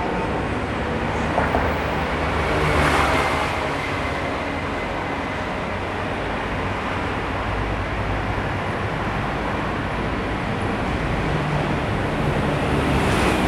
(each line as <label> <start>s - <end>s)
Traffic Noise 0.0s - 13.4s